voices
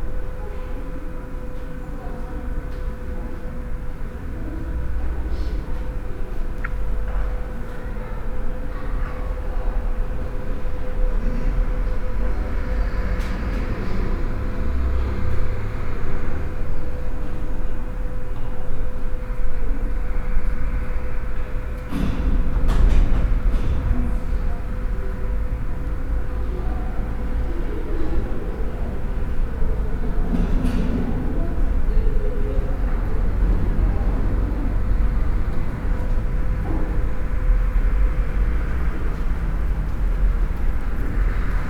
23.3 37.2

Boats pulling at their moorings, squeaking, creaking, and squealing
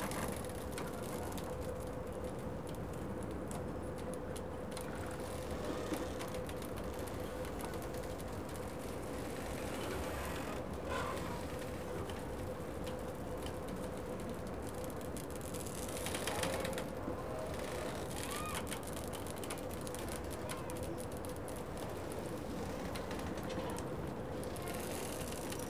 4.9 14.0, 15.6 25.6

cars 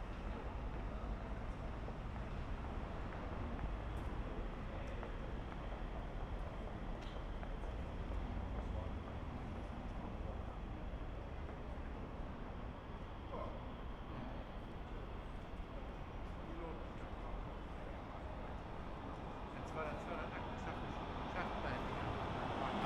18.4 22.8

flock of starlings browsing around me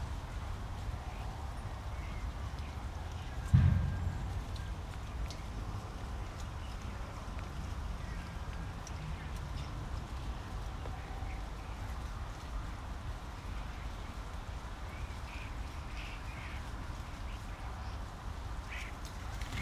8.0 19.6

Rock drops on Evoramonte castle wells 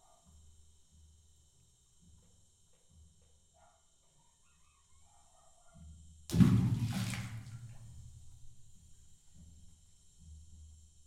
6.3 8.0

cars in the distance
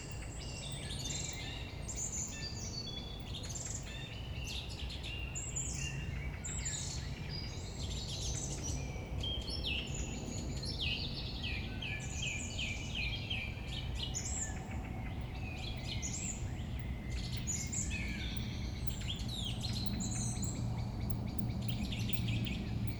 11.4 22.9

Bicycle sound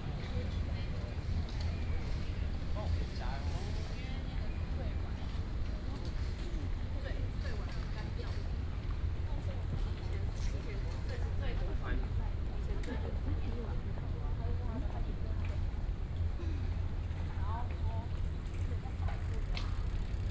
18.9 20.3

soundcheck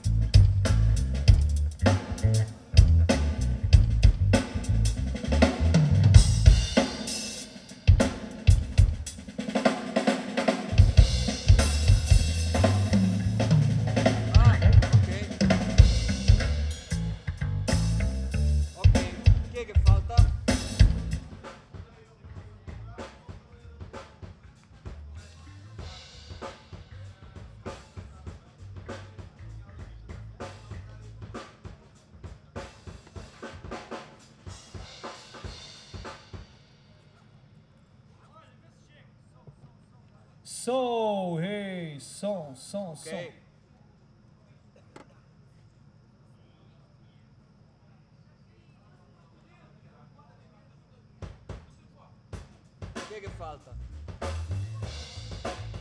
0.0 21.5

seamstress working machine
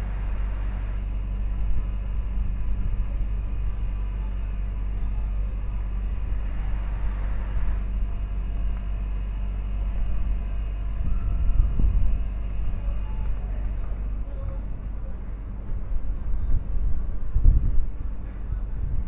0.0 1.0, 6.4 7.9

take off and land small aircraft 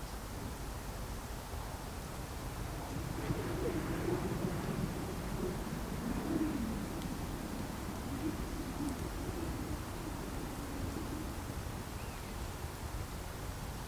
2.2 11.8

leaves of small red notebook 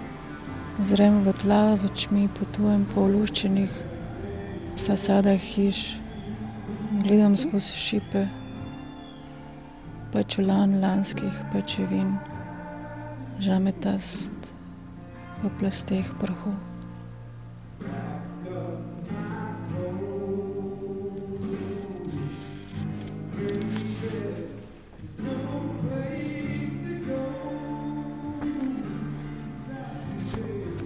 21.6 24.7

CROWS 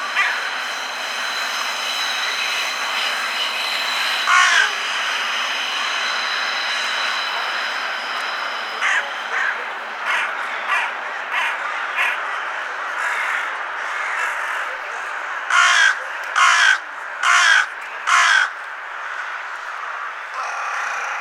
0.2 2.0, 3.9 4.8, 8.8 21.2

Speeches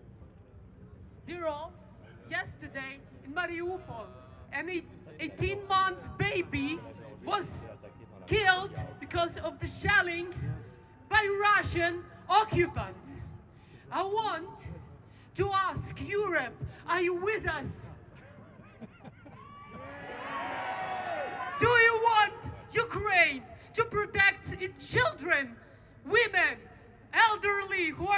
2.3 13.2

